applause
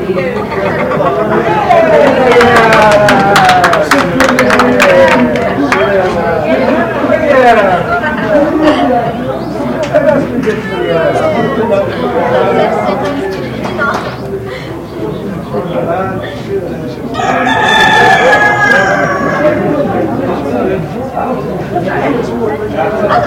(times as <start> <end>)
2.2 5.9